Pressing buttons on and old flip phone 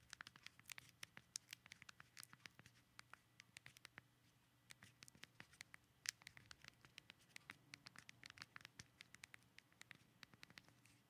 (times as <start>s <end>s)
4.7s 10.8s